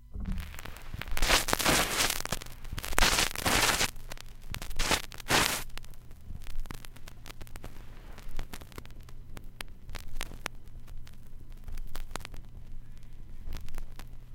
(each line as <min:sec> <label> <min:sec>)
0:00.0 digitized vinyl records 0:14.3